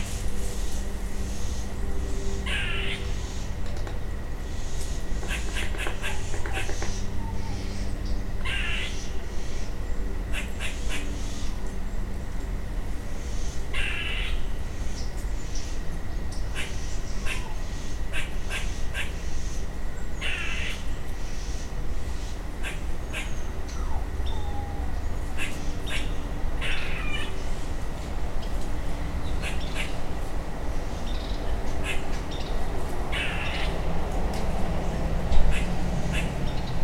songbirds 0.0 - 36.8
owl 2.4 - 3.4
Squirrels 4.8 - 9.7
woodpecker 5.2 - 7.0
owl 5.2 - 9.7
owl 10.3 - 11.6
owl 13.4 - 14.5
Squirrels 16.3 - 19.6
owl 16.5 - 19.6
owl 20.2 - 21.7
owl 22.6 - 27.4
owl 29.4 - 30.0
Squirrels 31.0 - 33.8
owl 31.0 - 32.5
owl 33.1 - 33.8
Squirrels 35.3 - 36.8
owl 35.5 - 36.4

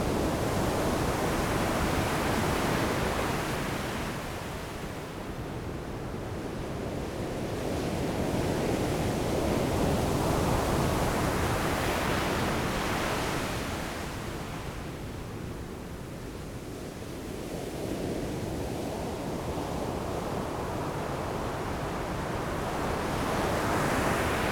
waves 21.7 - 24.5

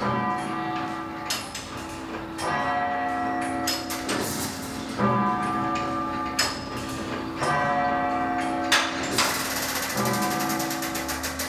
city tower bells - counting hours 0.0 - 11.4
winding up mechanism 9.2 - 11.4

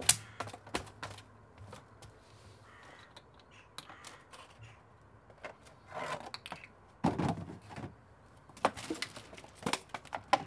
flattening plastic bottles 5.9 - 10.4

